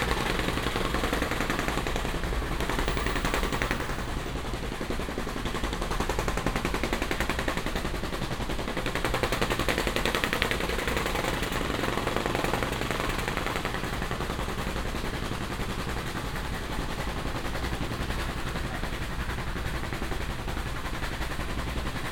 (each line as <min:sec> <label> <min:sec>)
0:00.0 street workers doing some construction 0:22.1